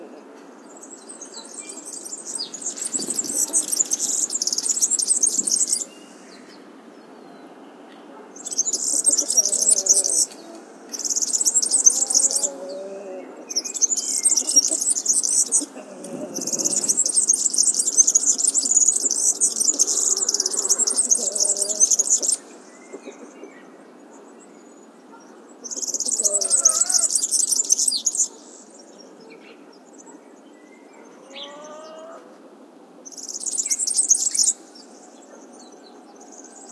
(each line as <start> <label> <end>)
12.0 soft sounds of hens in background 13.6
15.5 soft sounds of hens in background 17.0
20.1 soft sounds of hens in background 24.2
25.6 soft sounds of hens in background 27.0
31.0 soft sounds of hens in background 32.5